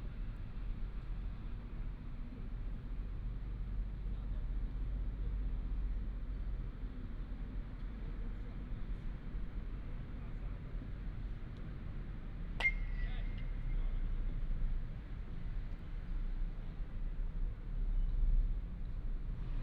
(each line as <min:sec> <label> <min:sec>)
0:11.4 Playing baseball 0:14.0